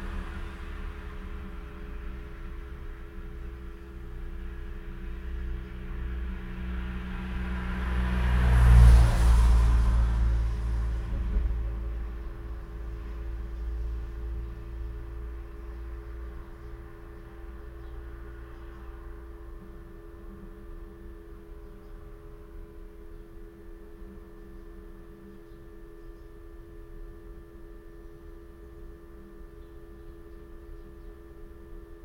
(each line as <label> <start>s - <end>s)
passing traffic 0.0s - 25.3s
constant low level electrical hum 0.0s - 32.0s